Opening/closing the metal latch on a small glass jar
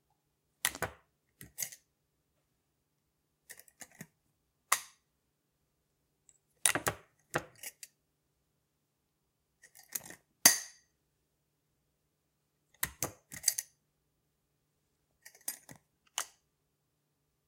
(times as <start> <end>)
9.6 10.8, 12.8 13.7, 15.2 16.4